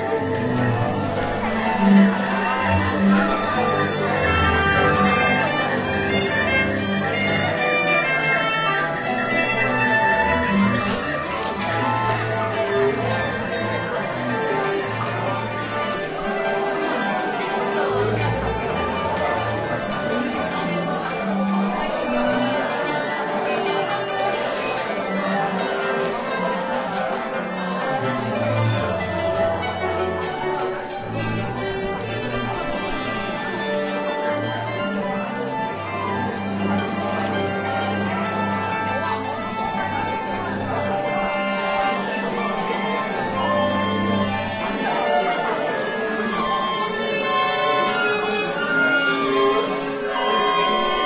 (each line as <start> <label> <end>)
0.0 people 51.0